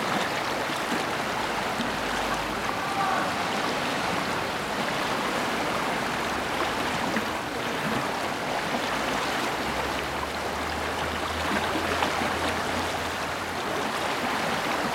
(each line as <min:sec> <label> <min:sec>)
0:00.0 Warche river 0:14.9